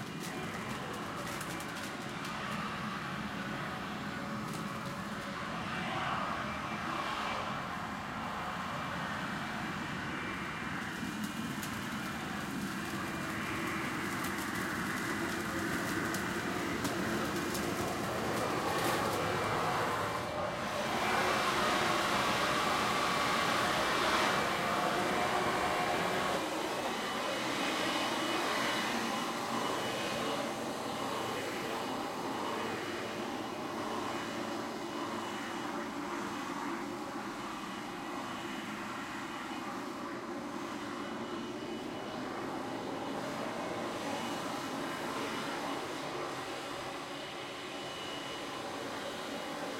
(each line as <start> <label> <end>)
0.0 blower-vac being used to vacuum leaves 49.7
9.6 blow leaves off a driveway 49.7